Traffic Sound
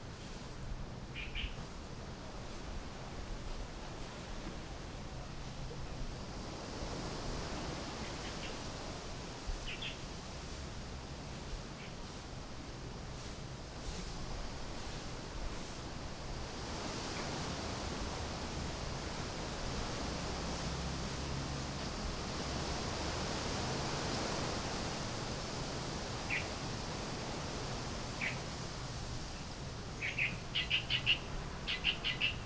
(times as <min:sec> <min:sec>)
0:17.8 0:32.4